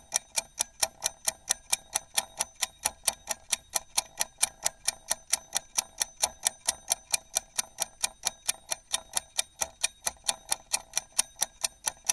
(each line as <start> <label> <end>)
0.0 Kitchen timer 12.1